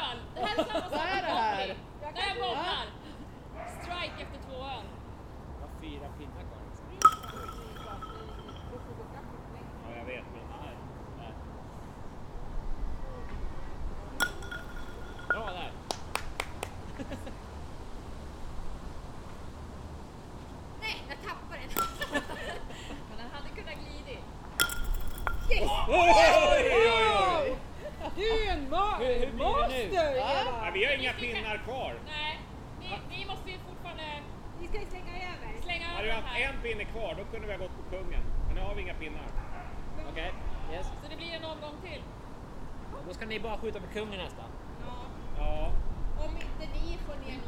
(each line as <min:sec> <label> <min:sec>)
0:07.0 People playing Kubb 0:08.8
0:14.2 People playing Kubb 0:16.7
0:21.7 People playing Kubb 0:22.6
0:24.6 People playing Kubb 0:26.0